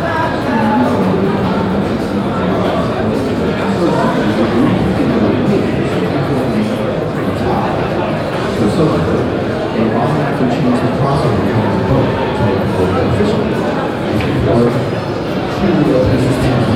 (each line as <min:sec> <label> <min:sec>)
0:00.0 people crossing and talking 0:16.7